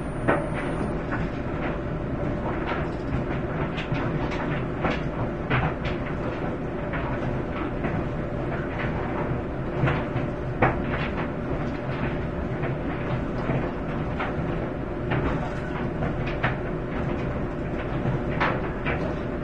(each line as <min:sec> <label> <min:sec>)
0:00.0 dryer 0:19.4
0:00.0 washing machine 0:19.4